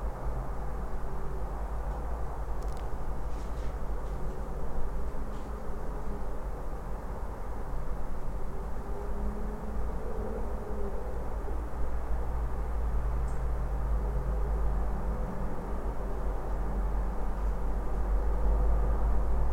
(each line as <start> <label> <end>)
0.0 distant hum of a city 19.5